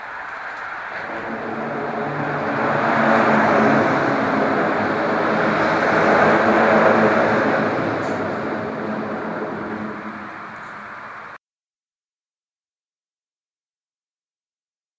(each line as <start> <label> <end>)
0.0 cars travelling over a bridge with a open steel mesh 11.4